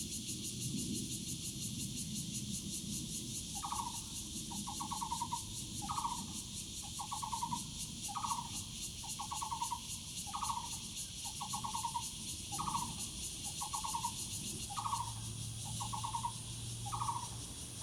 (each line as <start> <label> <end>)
0.0 cicadas 17.8
7.0 Birds 17.8